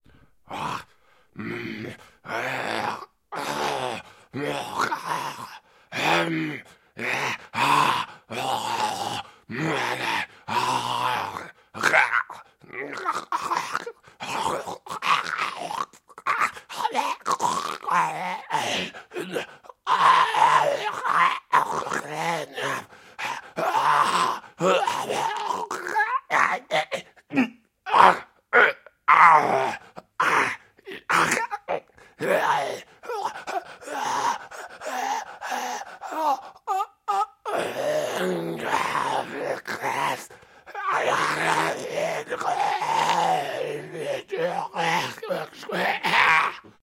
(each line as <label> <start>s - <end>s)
zombie groans 0.4s - 46.8s
screams 37.6s - 46.7s